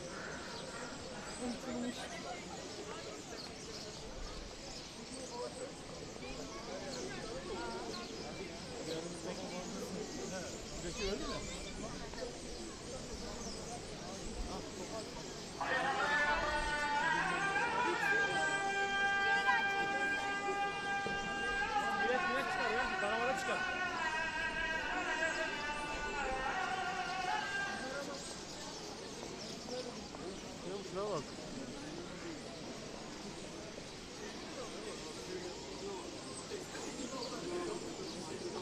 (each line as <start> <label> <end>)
0.0 starlings 38.6
12.8 azan 31.8